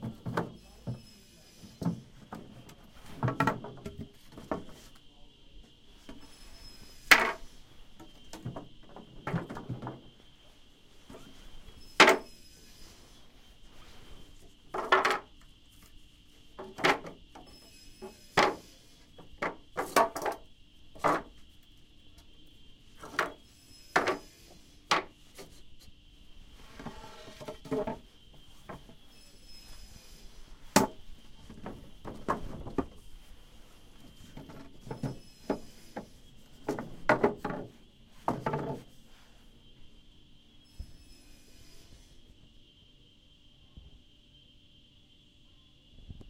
0.6s circular saw 1.9s
1.8s wood beams stumbling against each other 4.8s
11.2s circular saw 14.0s
14.7s wood beams stumbling against each other 15.3s
17.4s circular saw 19.2s
19.3s wood beams stumbling against each other 20.4s
21.0s wood beams stumbling against each other 21.4s
23.1s circular saw 25.5s
26.8s wood beams stumbling against each other 28.1s
29.0s circular saw 30.8s
30.7s wood beams stumbling against each other 33.0s
34.1s circular saw 36.6s
34.2s wood beams stumbling against each other 38.9s
40.7s circular saw 42.3s

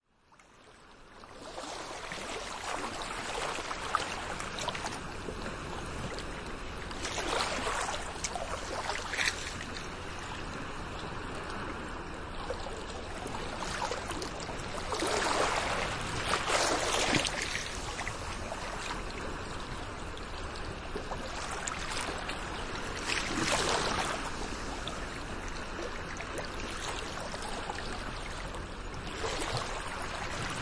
0.0s Small waves on a sand bar 30.6s

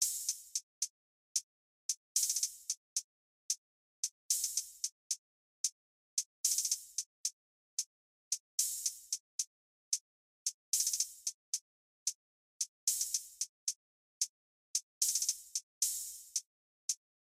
0.0s hi hat 0.9s
1.9s hi hat 2.8s
4.3s hi hat 5.0s
6.4s hi hat 7.4s
8.3s hi hat 9.2s
10.8s hi hat 11.6s
12.6s hi hat 13.8s
14.8s hi hat 17.0s

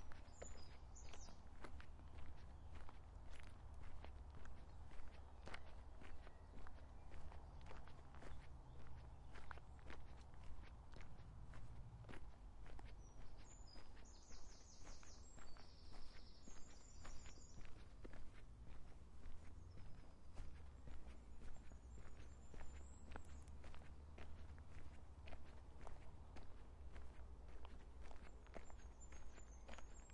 0.0s Birds 30.1s
0.0s walking along a gravel path 30.1s

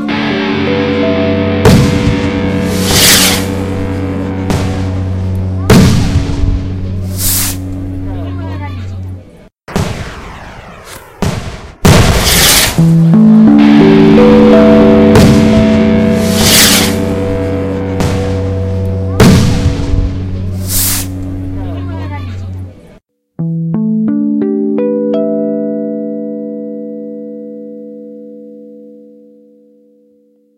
1.7s rocket 3.6s
5.7s rocket 7.7s
9.7s rocket 12.9s
12.8s beat 22.1s
15.2s rocket 18.6s
19.2s rocket 21.3s

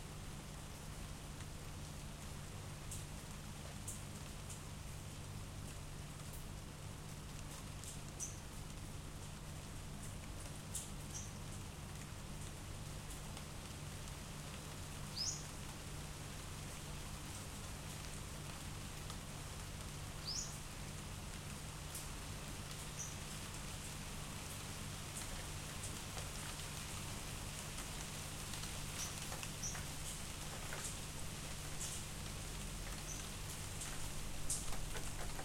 0.0s rain 35.4s

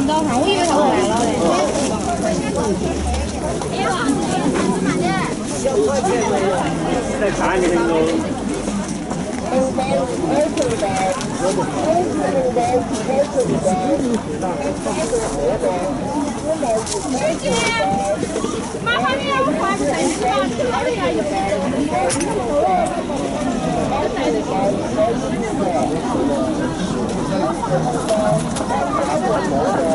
0.0s crowd 29.9s

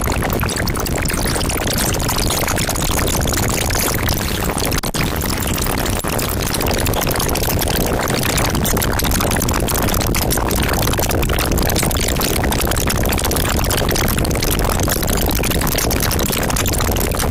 0.0s noisy and crunchy broken computer noises 17.3s

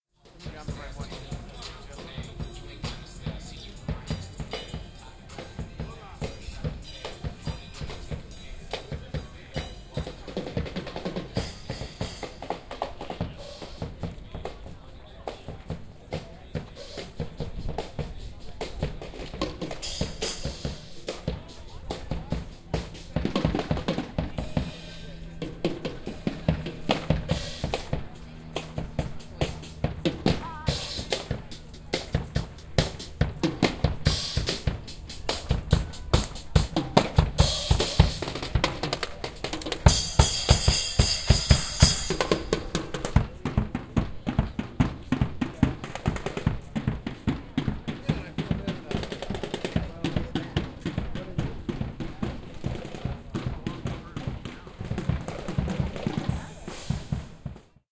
0.0s Street drummer 57.9s

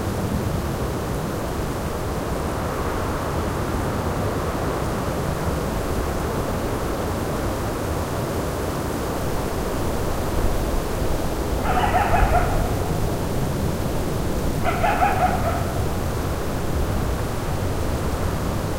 0.0s Wind blowing through the jagged terrain 18.7s
11.5s coyote is heard calling in the distance 16.6s

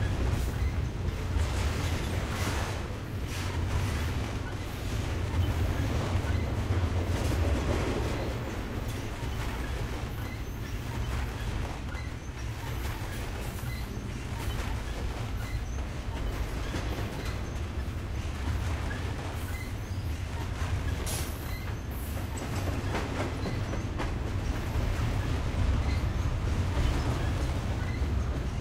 0.0s long freight train 28.6s

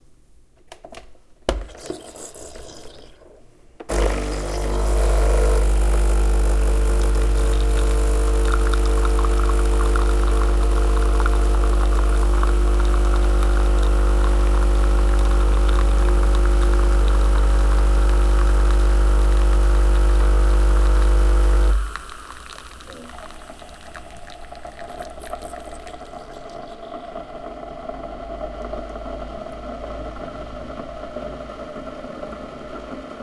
1.6s espresso 31.3s

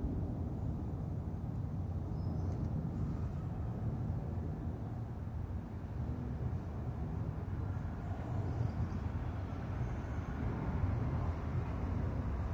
1.3s traffic 12.5s

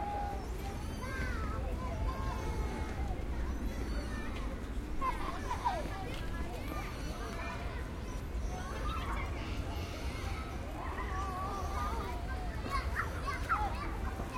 0.0s children play 14.3s
0.1s footsteps of pedestrians 14.3s

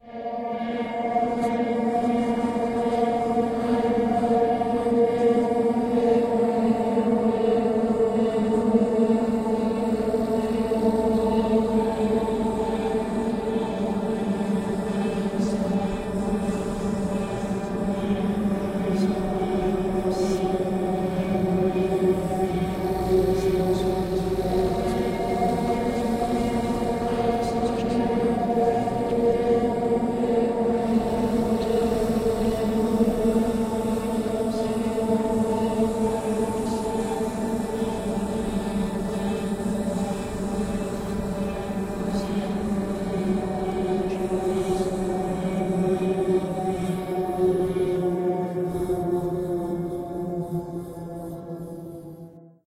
16.0s old mystic Engine 47.2s

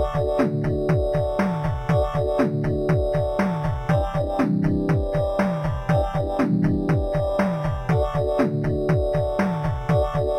0.0s bass 10.3s
0.0s drum 10.3s
0.0s synth 10.3s

